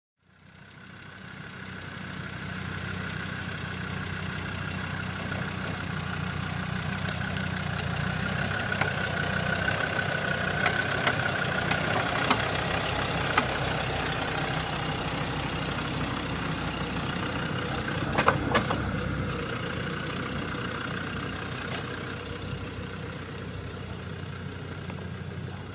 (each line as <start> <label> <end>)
0.2 Land Rover going down hill 25.7